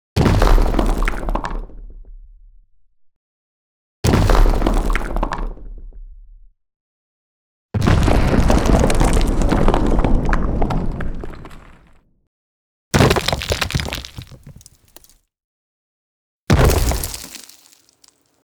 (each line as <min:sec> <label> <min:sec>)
0:13.0 debris 0:15.2
0:13.0 rock impact sounds 0:15.2
0:16.5 rock impact sounds 0:18.3
0:16.5 debris 0:18.3